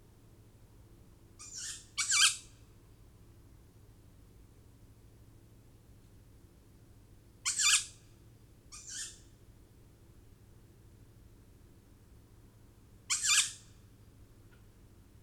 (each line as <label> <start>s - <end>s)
tawny owl fledglings 1.4s - 2.5s
tawny owl fledglings 8.7s - 9.2s
tawny owl fledglings 13.1s - 13.6s